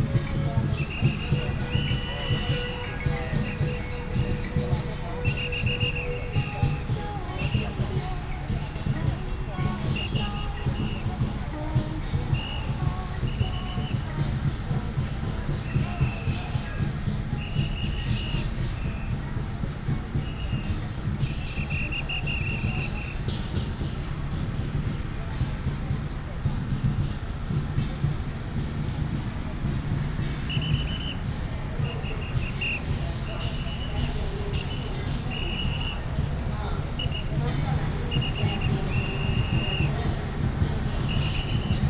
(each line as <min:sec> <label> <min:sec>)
0:00.0 A lot of people 0:41.8
0:00.0 Gongs and drums 0:41.8
0:00.0 Traffic sound 0:41.8
0:00.7 Whistle sound 0:07.6
0:29.7 Whistle sound 0:41.8